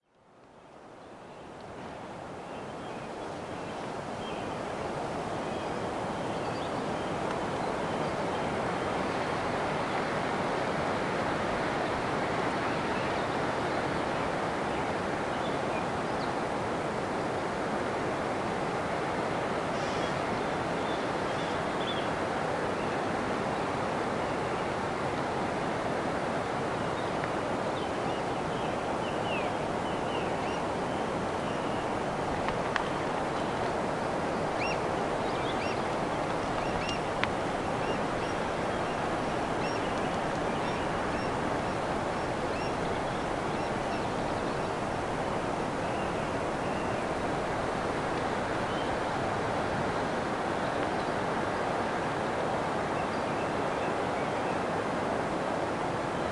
Oystercatchers flying over the campsite 0:28.0 - 0:49.7

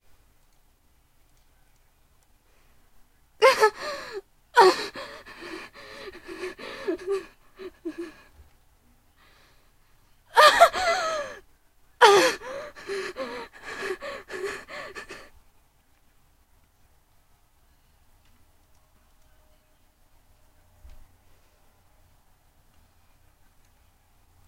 Female stabbed gasp 0:03.4 - 0:08.2
Female stabbed gasp 0:12.0 - 0:15.3

